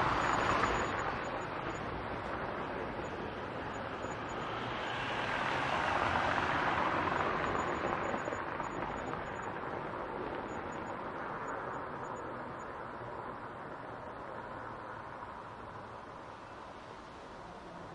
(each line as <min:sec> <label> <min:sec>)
0:00.0 car passing 0:10.8